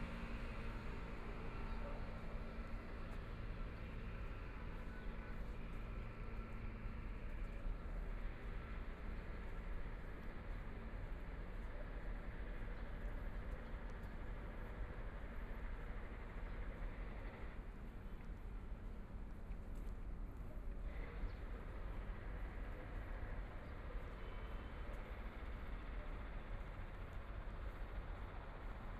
Walking on the road 0:00.0 - 0:28.9

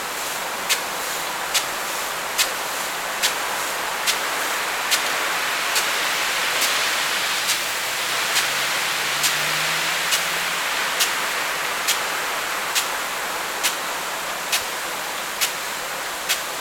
Watering of corn 0:00.0 - 0:16.6
cars 0:06.3 - 0:14.1

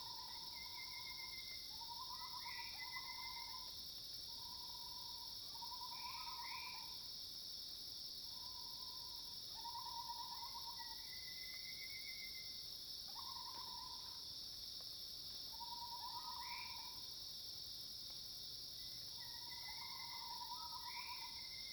Cicadas cries 0:00.0 - 0:07.1
Cicadas cries 0:08.3 - 0:14.3
Insects called 0:08.3 - 0:21.7
Cicadas cries 0:15.4 - 0:17.4
Cicadas cries 0:18.8 - 0:21.7

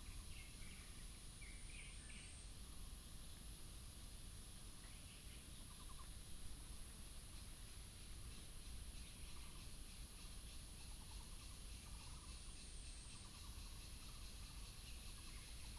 Cicada cry 0:07.6 - 0:15.7

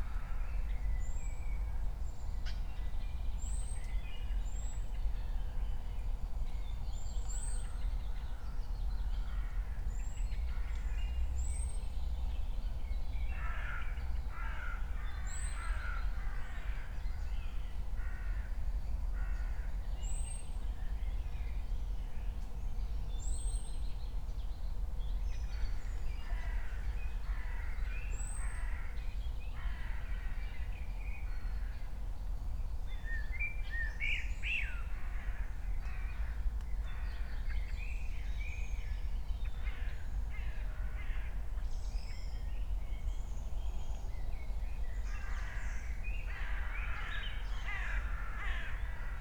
crows 0:13.4 - 0:17.0
crows 0:45.1 - 0:49.2

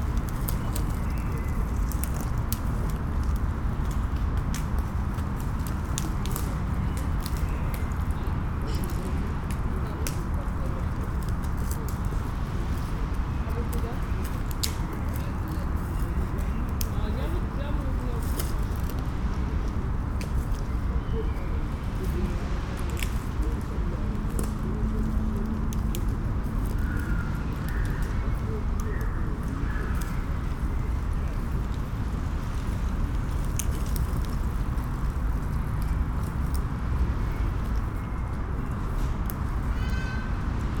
forest movements 0:00.0 - 0:40.8

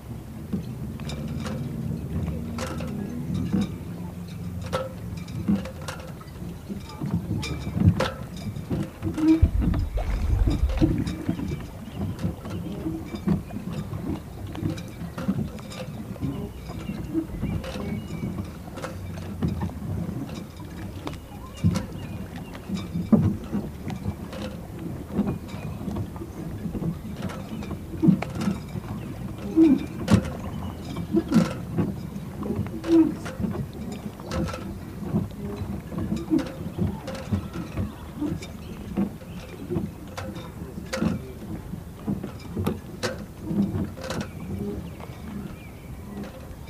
Launch drifting in the water 0:00.0 - 0:46.6

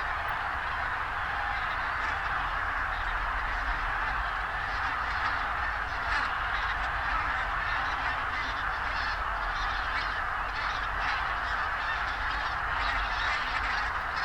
geese 0:00.0 - 0:14.2

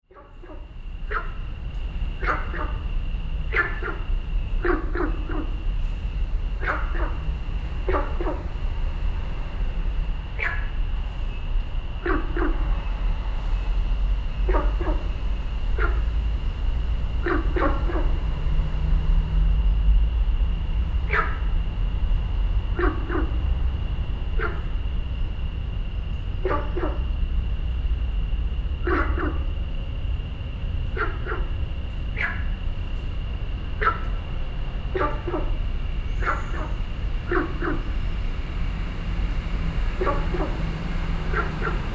Frogs calling 0:00.1 - 0:41.9

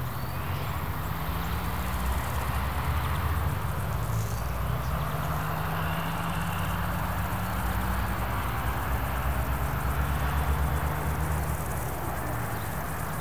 swarms of crickets 0:00.0 - 0:13.2

